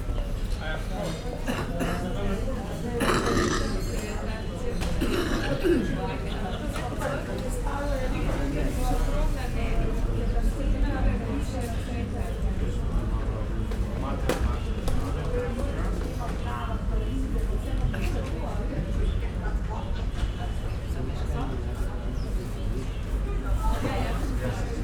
market activity 0:00.0 - 0:24.8

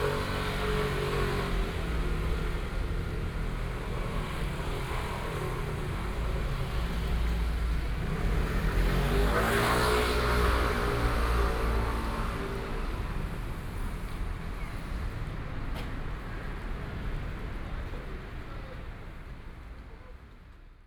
Walking in the street 0:00.0 - 0:20.8

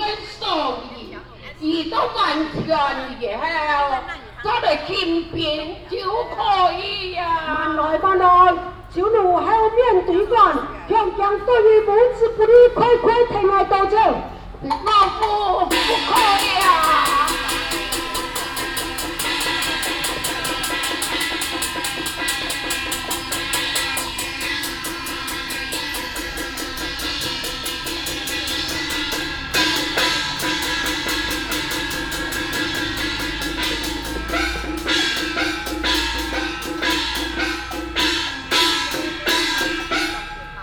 Hakka Opera 0:15.2 - 0:40.4

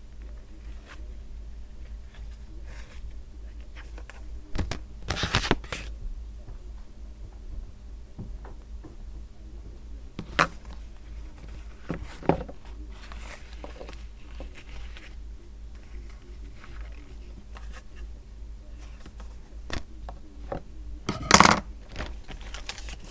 assembling shade cards 0:02.0 - 0:05.9
assembling shade cards 0:10.2 - 0:18.1
assembling shade cards 0:21.1 - 0:23.1
tying them onto pieces of card 0:21.9 - 0:23.1

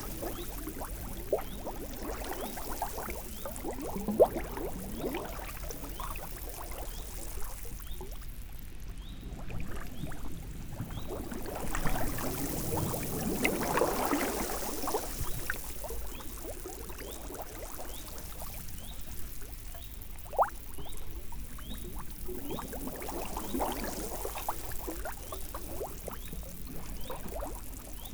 enormous bubble emanate in a curious ascent 0:00.0 - 0:28.1

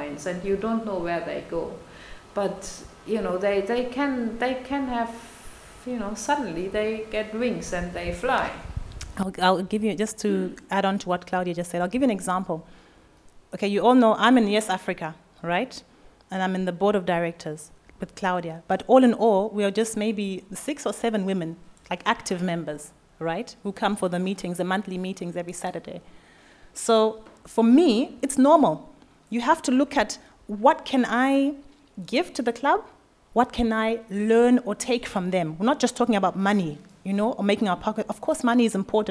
women’s conversations 0:00.0 - 0:12.6
women’s conversations 0:26.8 - 0:39.1

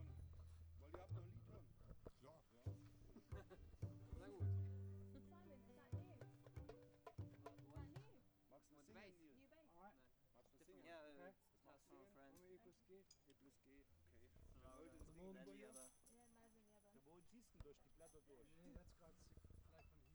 contrabass 0:00.0 - 0:08.1
cajón player 0:00.0 - 0:08.2

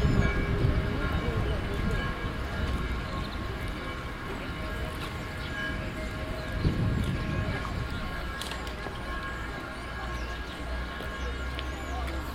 Bells 0:00.0 - 0:12.3

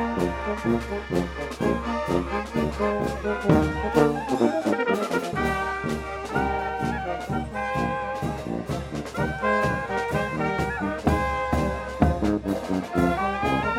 fanfare in playing in the street 0:00.0 - 0:13.7

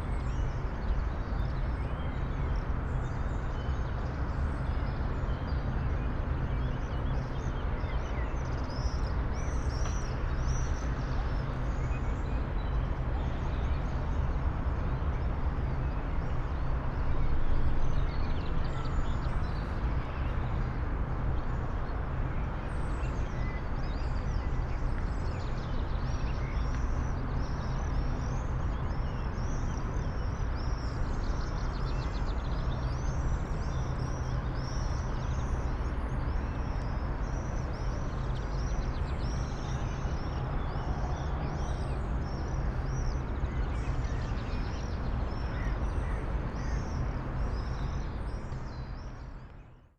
fundamental tone of the city's activity 0:00.0 - 0:49.9
birds 0:21.4 - 0:49.9

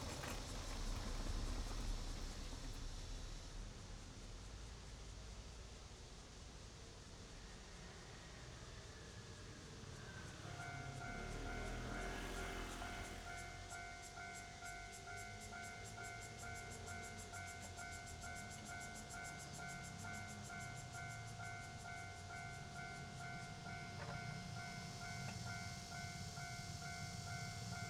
The train runs through 0:00.0 - 0:27.8
Traffic sound 0:07.3 - 0:27.8
Railway level crossing 0:09.6 - 0:27.8

